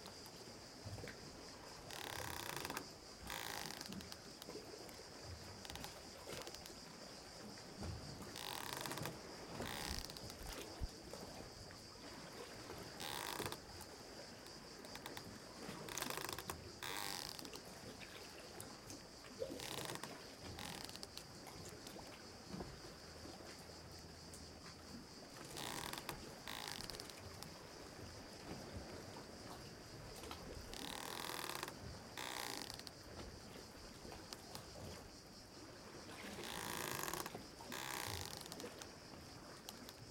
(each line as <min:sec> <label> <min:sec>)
0:00.0 Sea 0:40.1
0:01.8 rope squeaks on boat 0:04.5
0:05.5 rope squeaks on boat 0:06.8
0:08.3 rope squeaks on boat 0:10.9
0:12.7 rope squeaks on boat 0:13.7
0:14.9 rope squeaks on boat 0:17.6
0:19.4 rope squeaks on boat 0:21.3
0:25.4 rope squeaks on boat 0:27.6
0:30.7 rope squeaks on boat 0:33.0
0:36.2 rope squeaks on boat 0:38.9